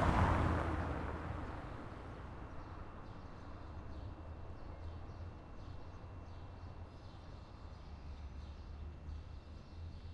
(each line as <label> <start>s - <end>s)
Cars passing by on a cobblestone road 0.0s - 4.6s